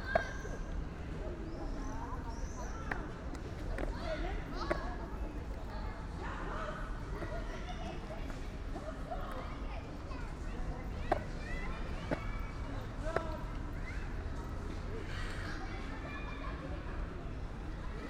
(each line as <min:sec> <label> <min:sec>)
0:00.0 girl practising skateboard 0:06.2
0:00.0 youngsters playing streetball 0:18.0
0:06.8 girl practising skateboard 0:13.7